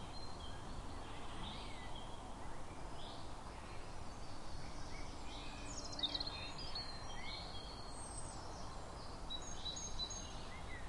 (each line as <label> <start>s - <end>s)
breeze in the trees 0.0s - 10.8s